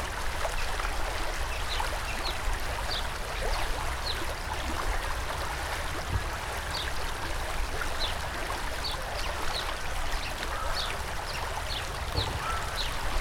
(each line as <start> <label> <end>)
0.0 river 13.2